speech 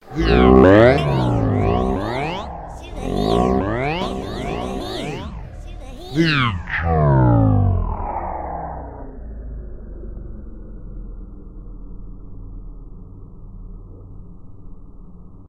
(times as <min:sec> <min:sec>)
0:00.0 0:07.8